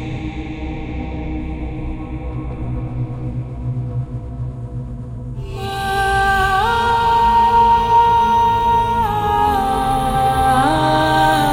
5.4s Female Men Choir 11.5s

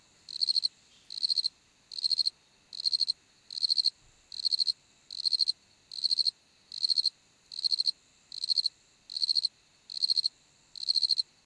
0.0s cricket 11.4s

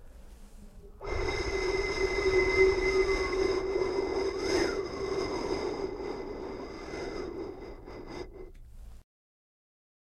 1.0s blow 8.5s

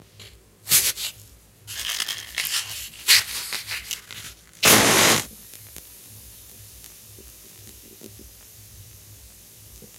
0.7s Ignition of matches 5.9s

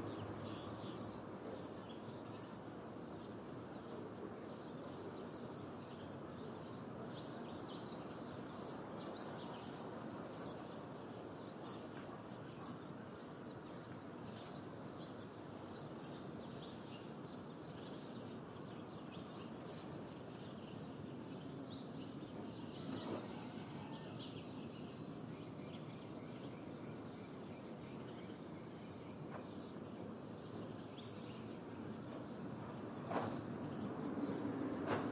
0.0s birds 35.1s
30.8s traffic 35.1s

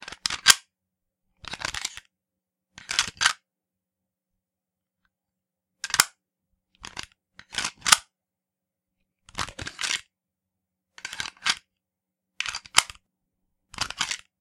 5.8s firearm reloading and being cocked back 6.1s
7.8s firearm reloading and being cocked back 8.0s

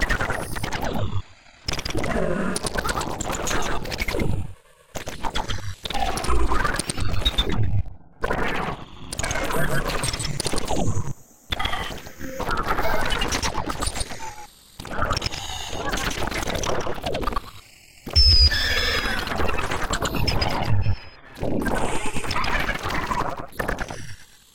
18.1s screech 21.2s
18.1s shriek 20.0s
18.1s squeal 21.2s
18.2s squeak 19.4s
18.2s beep 19.6s

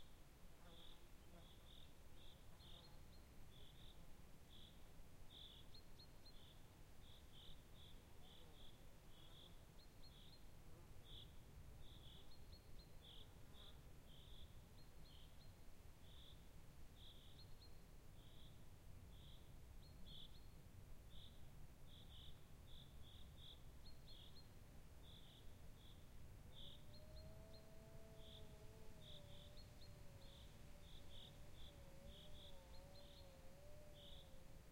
0.0s wind 34.7s
17.0s birds 34.7s

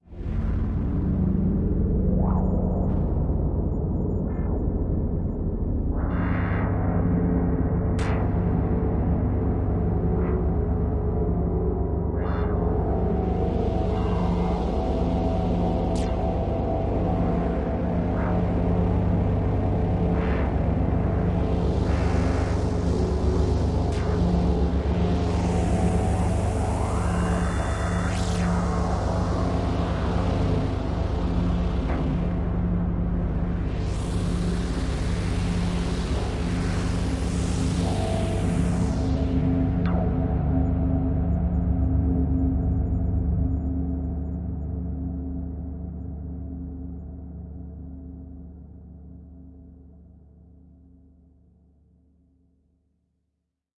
0.0s drone 50.3s

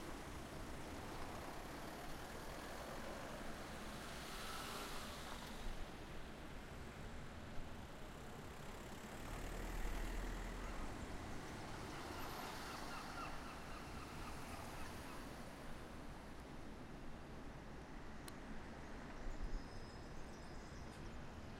0.0s traffic 21.5s

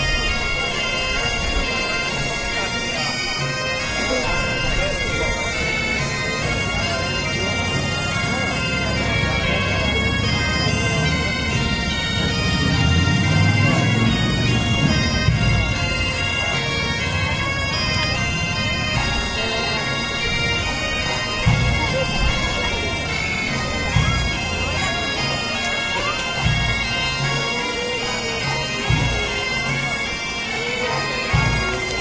0.0s band of bagpipes on parade 32.0s
11.5s drumming 25.3s

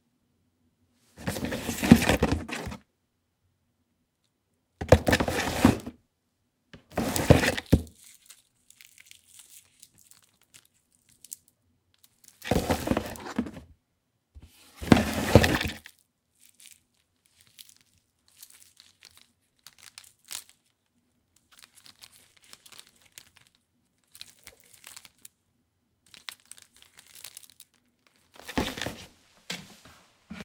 1.2s handling the cord 2.8s
1.2s Pulling object (extension cord/cable) from a cardboard box 2.8s
4.8s Pulling object (extension cord/cable) from a cardboard box 6.0s
4.8s handling the cord 6.0s
6.8s handling the cord 13.7s
6.9s Pulling object (extension cord/cable) from a cardboard box 7.8s
12.4s Pulling object (extension cord/cable) from a cardboard box 13.6s
14.4s handling the cord 25.3s
14.8s Pulling object (extension cord/cable) from a cardboard box 15.8s
26.0s handling the cord 30.4s
28.4s Pulling object (extension cord/cable) from a cardboard box 29.1s

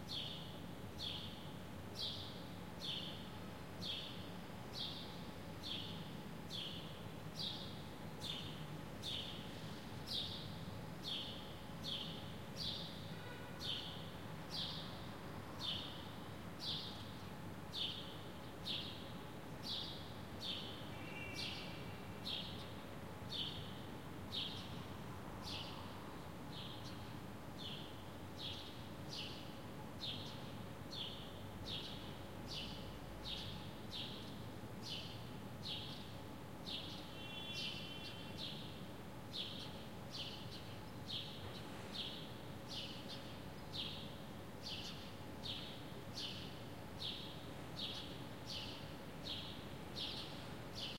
0.0s birds singing 24.8s
25.4s birds singing 50.9s

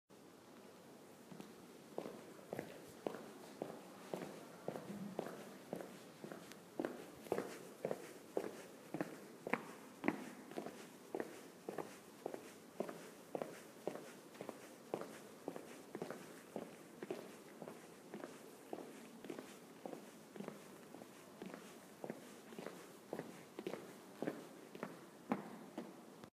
1.3s Echoey footsteps 26.1s

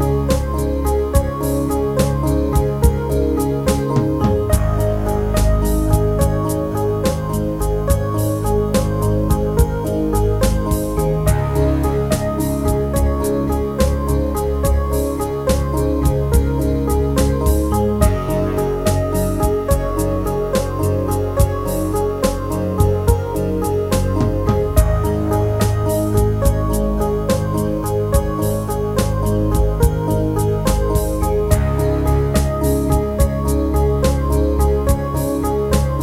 0.0s piano 36.0s
3.7s drum 16.6s
17.2s drum 23.3s
23.9s drum 28.4s
30.7s drum 35.2s

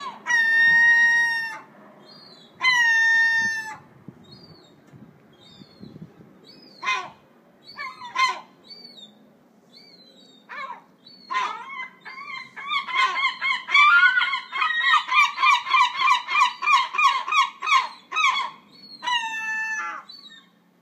10.5s Herring Gull 20.6s

